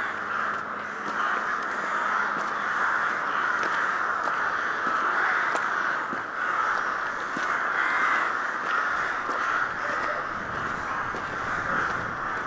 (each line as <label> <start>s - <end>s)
crows making their nests 0.0s - 12.4s
walk on the frozen lake 0.0s - 12.4s